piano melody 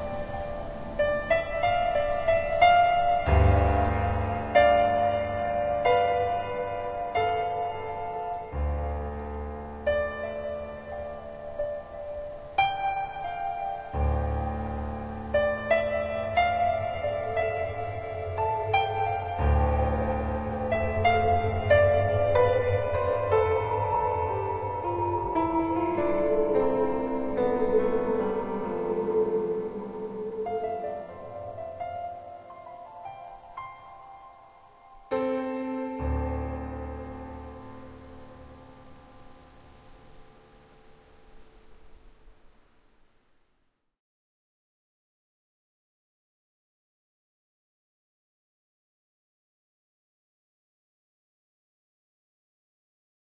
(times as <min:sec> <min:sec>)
0:00.0 0:42.1